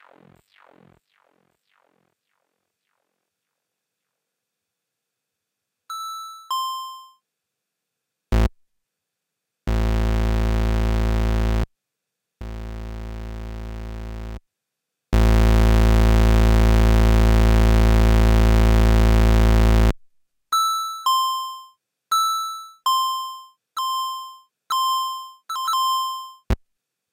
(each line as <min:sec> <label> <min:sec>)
0:00.0 Random Synth Noise 0:03.4
0:08.3 Random Synth Noise 0:08.5
0:09.7 Random Synth Noise 0:11.7
0:12.4 Random Synth Noise 0:14.4
0:15.2 Random Synth Noise 0:19.9